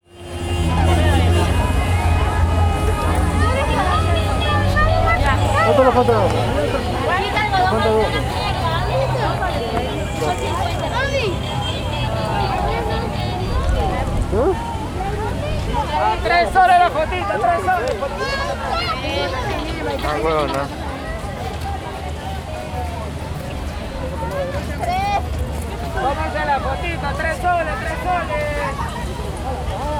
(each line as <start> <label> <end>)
0.0 street vendors saying 29.9
0.0 traffic jam 29.9